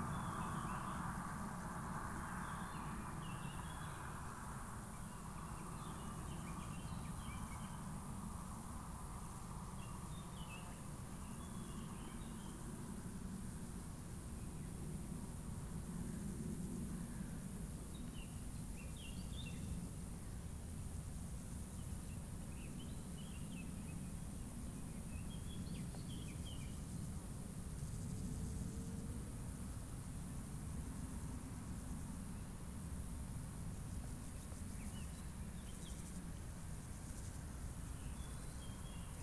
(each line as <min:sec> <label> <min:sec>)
0:00.0 nombreux insectes 0:39.2